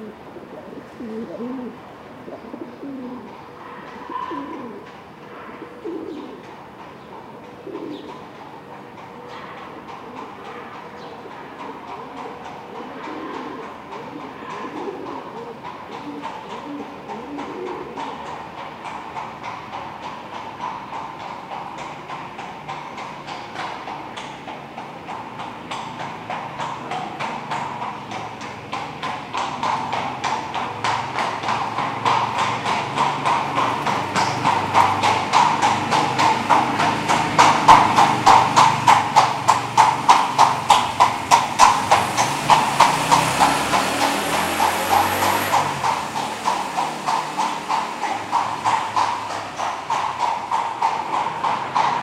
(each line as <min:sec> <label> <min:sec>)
0:00.0 pigeon cooing near the mic 0:06.5
0:00.0 horse-drawn carriage approaches at a good pace 0:52.0
0:07.3 pigeon cooing near the mic 0:08.2
0:09.1 pigeon cooing near the mic 0:18.3
0:13.0 motorbike 0:52.0